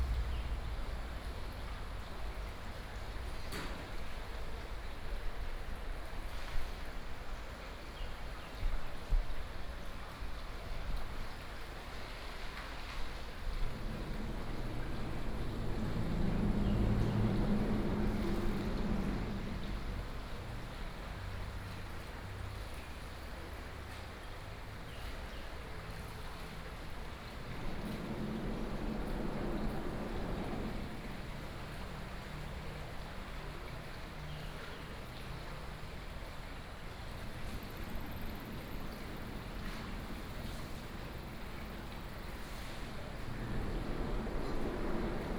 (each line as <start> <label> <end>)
0.0 water 45.3
12.6 Traffic Sound 22.8
27.0 Traffic Sound 33.8
36.8 Traffic Sound 45.3